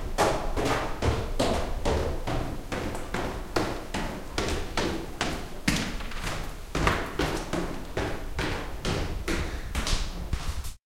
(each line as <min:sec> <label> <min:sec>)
0:00.0 Footsteps 0:10.8